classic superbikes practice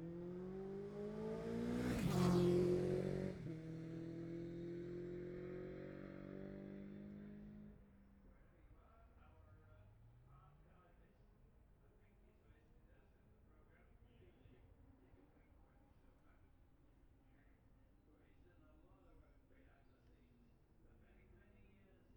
0:00.0 0:07.5

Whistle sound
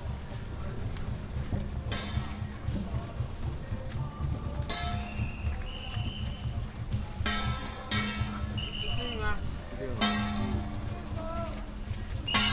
0:05.1 0:06.5, 0:08.6 0:09.3

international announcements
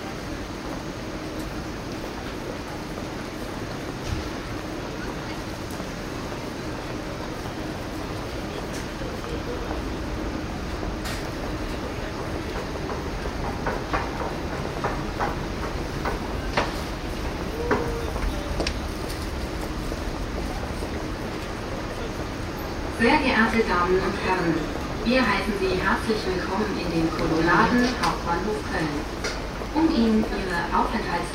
0:18.1 0:31.3

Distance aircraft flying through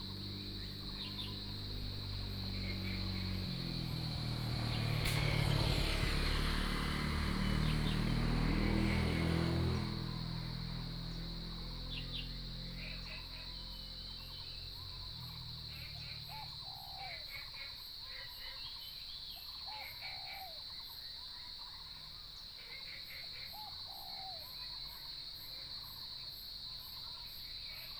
0:00.0 0:16.6

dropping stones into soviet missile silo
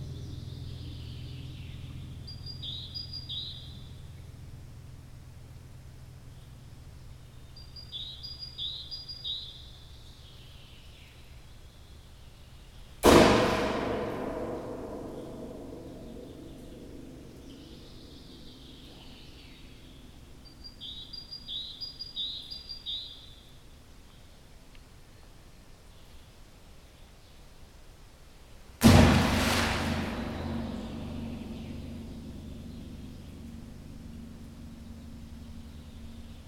0:28.8 0:31.9

